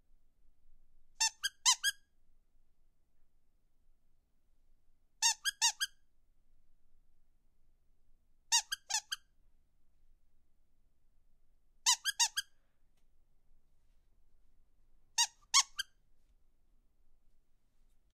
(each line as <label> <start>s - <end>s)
dog squeaky toy double squeaked 11.9s - 12.5s